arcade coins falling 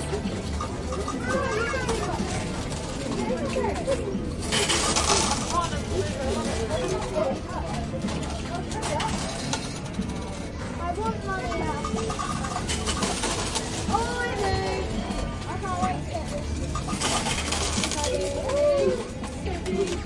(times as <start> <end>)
3.8 7.3, 8.3 10.5, 11.5 15.3, 16.3 18.9